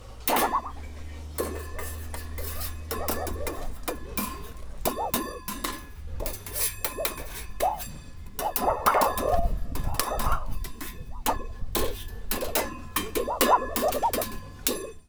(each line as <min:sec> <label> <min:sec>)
0:00.0 Bangs 0:15.0
0:00.0 Clanks 0:15.0
0:00.0 Machines 0:15.0
0:00.0 Scrapes 0:15.0
0:00.0 rattle 0:15.0
0:00.3 Smash 0:00.8